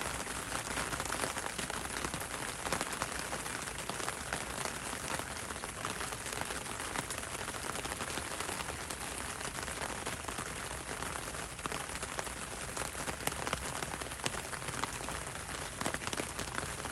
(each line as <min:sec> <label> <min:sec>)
0:00.0 rain on umbrella 0:16.9